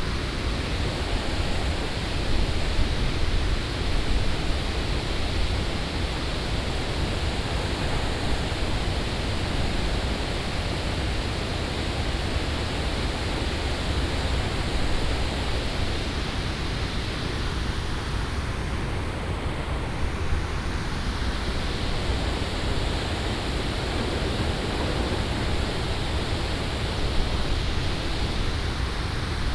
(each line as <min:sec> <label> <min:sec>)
0:20.8 concrete gravity barrage dam 0:29.5